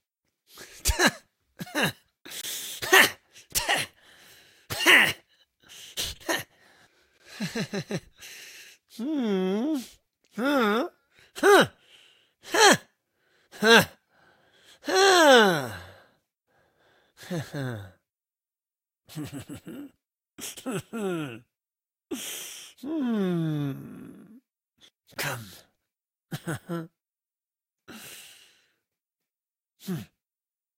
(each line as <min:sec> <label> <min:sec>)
0:08.9 voice 0:11.7
0:19.1 voice 0:21.4
0:25.1 voice 0:25.7
0:29.8 voice 0:30.1